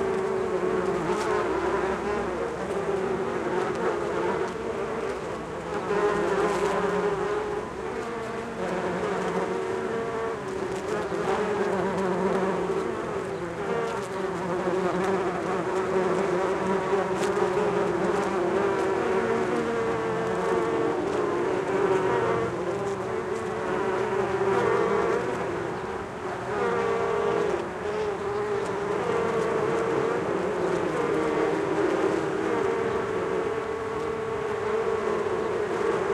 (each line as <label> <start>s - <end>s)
many bees, of various species foraging on a Cotoneaster plant 0.0s - 36.1s